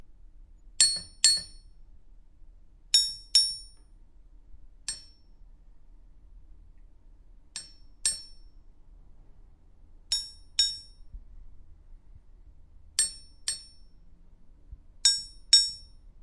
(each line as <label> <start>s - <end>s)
Knives being tapped by a knife sharpener 0.8s - 1.6s
Knives being tapped by a knife sharpener 4.8s - 5.2s
Knives being tapped by a knife sharpener 7.6s - 8.4s
Knives being tapped by a knife sharpener 13.0s - 13.8s